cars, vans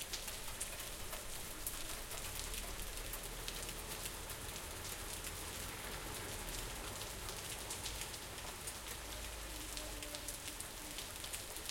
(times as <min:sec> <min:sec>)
0:01.6 0:09.7